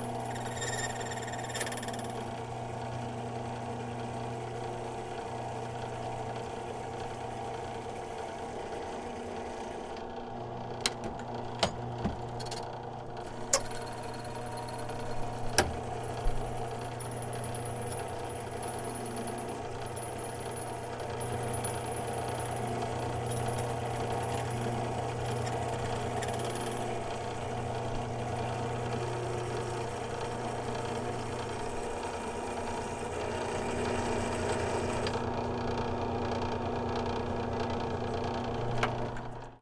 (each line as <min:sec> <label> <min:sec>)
0:10.8 key cutting machine 0:29.9